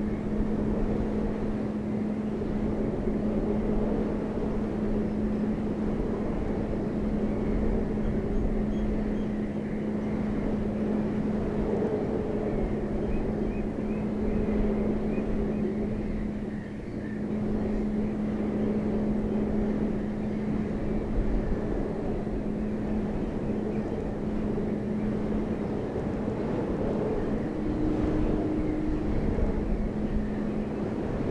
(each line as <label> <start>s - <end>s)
wind-blown railing 0.0s - 31.3s